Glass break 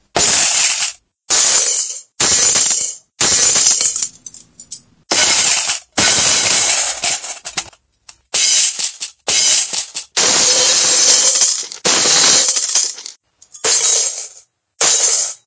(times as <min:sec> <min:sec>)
0:08.4 0:15.4